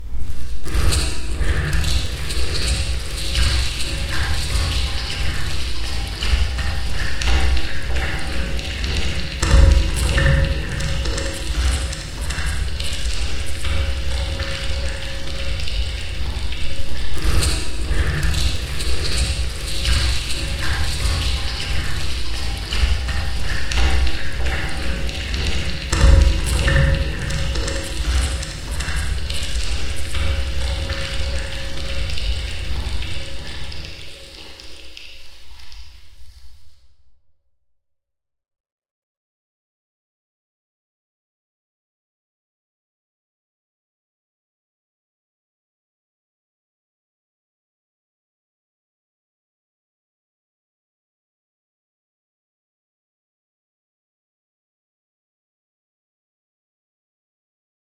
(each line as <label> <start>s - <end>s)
mechanical thuds of machinery 9.4s - 12.5s
mechanical thuds of machinery 25.4s - 29.5s